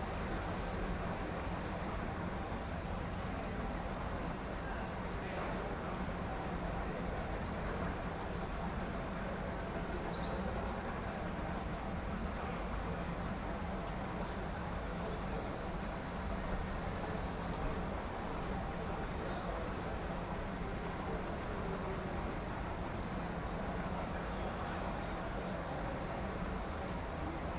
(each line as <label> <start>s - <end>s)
water 0.0s - 27.5s